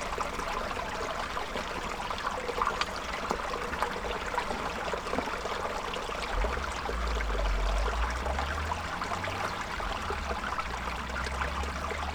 creek 0:00.0 - 0:12.1

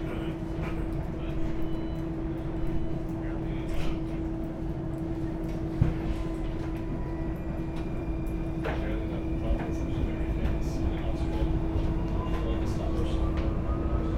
tramway 0:00.0 - 0:14.1

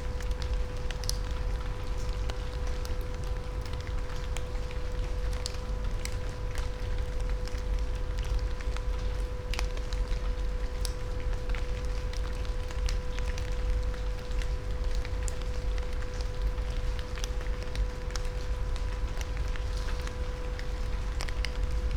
rain on leaves 0:00.0 - 0:21.9

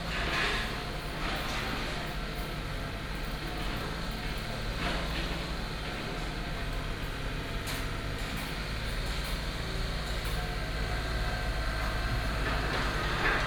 Construction sound 0:10.4 - 0:13.4

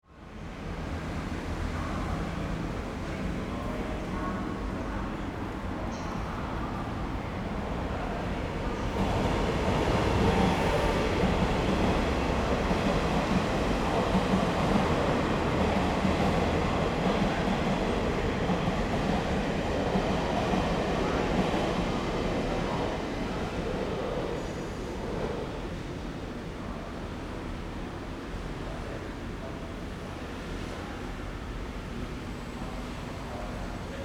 Traffic Noise 0:00.2 - 0:34.0

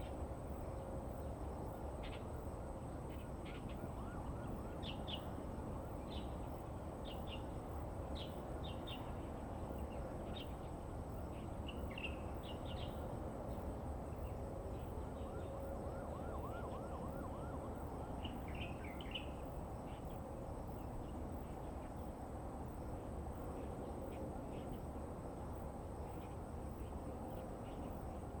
sound from the highway 0:00.0 - 0:28.4
Police car sound 0:15.2 - 0:18.2

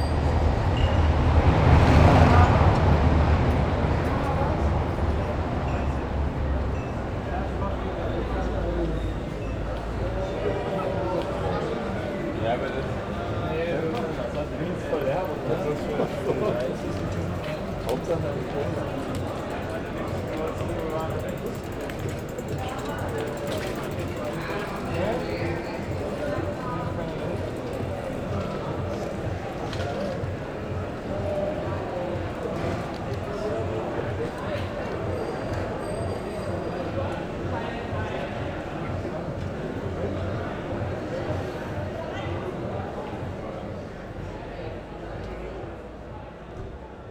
people partying on the street 0:00.0 - 0:47.1

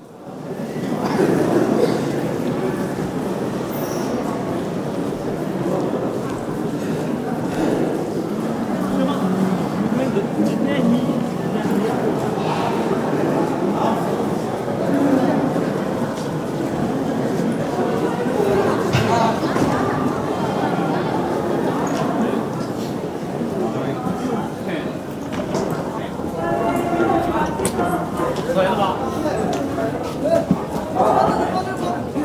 conversations in the reverbance of the big hall 0:00.0 - 0:32.2
steps 0:25.0 - 0:31.5

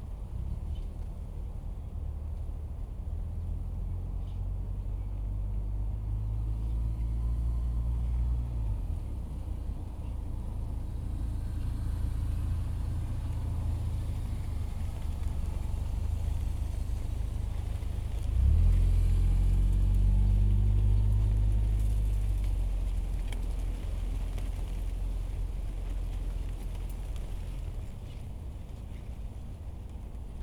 Traffic sound 0:00.0 - 0:30.4
Wind and leaves 0:00.0 - 0:30.4
planes in the distance 0:06.0 - 0:28.2

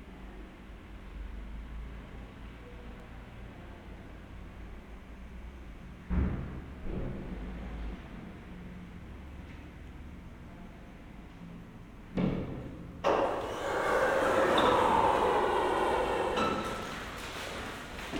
automatic doorway at the main entrance 0:13.0 - 0:18.1
visitors 0:13.1 - 0:18.1

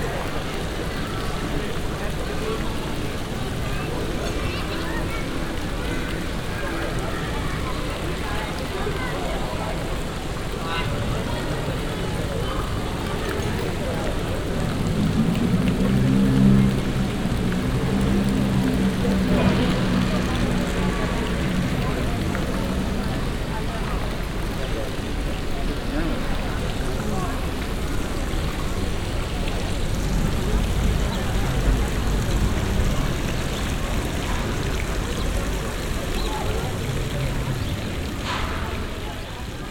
fountain 0:00.0 - 0:39.7
tourist crowd 0:00.0 - 0:39.7

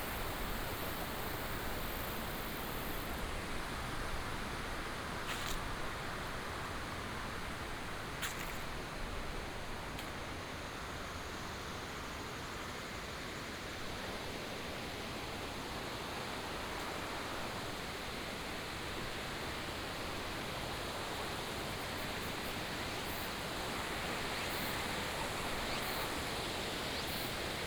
Cicadas 0:00.0 - 0:04.4
Insects 0:00.0 - 0:27.6
Cicadas 0:15.3 - 0:27.6

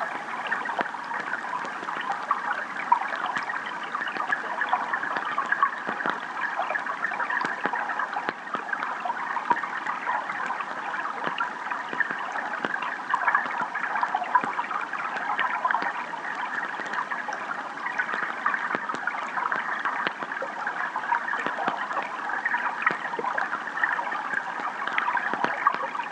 Mouse Water Drizzle 0:00.0 - 0:26.1

